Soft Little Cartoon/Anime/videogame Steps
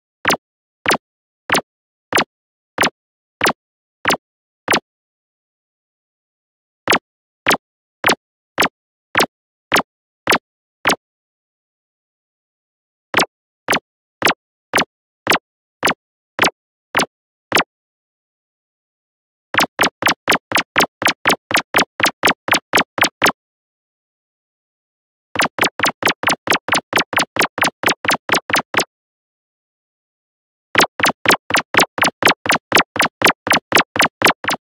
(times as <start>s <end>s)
0.2s 4.9s, 6.8s 11.0s, 13.2s 17.7s, 19.6s 23.4s, 25.4s 28.9s, 30.8s 34.6s